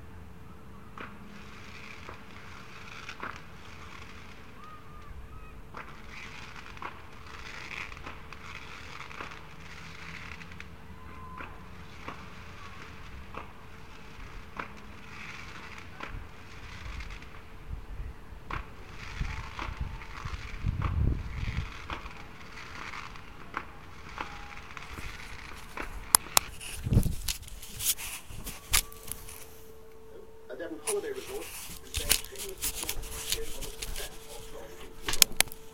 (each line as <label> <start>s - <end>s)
Domestic fireworks display 0.8s - 35.7s
rocket 1.0s - 29.2s